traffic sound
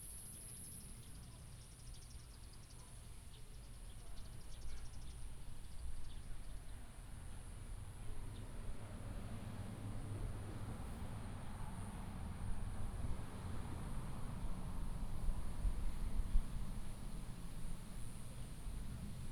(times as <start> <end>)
7.9 19.3